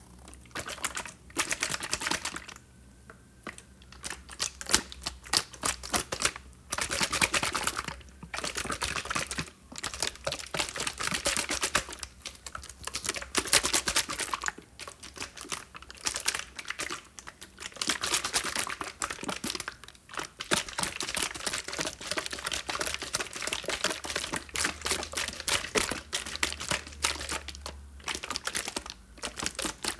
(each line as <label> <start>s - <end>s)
stirred it 0.0s - 2.6s
stirred it 3.4s - 29.9s